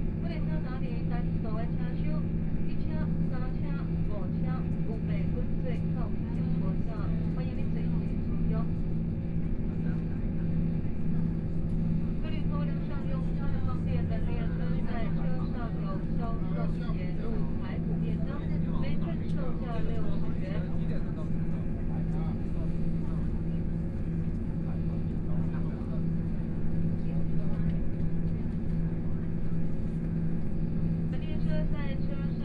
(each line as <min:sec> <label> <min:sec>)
0:00.0 Noise inside the train 0:32.4
0:00.1 Dialogue between tourists 0:32.4
0:11.9 Train voice message broadcasting 0:30.0
0:31.0 Train voice message broadcasting 0:32.4